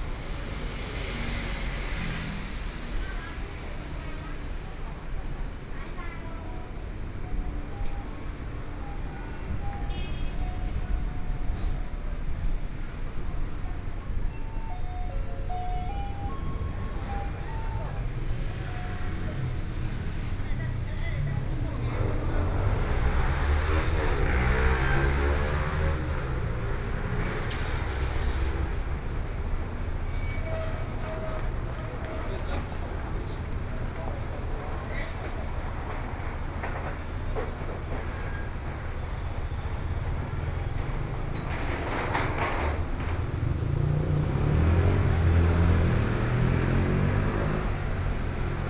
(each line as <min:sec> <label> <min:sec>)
0:00.0 Traffic Sound 0:48.6
0:00.0 walking on the Road 0:48.6
0:02.5 Various shops voices 0:48.6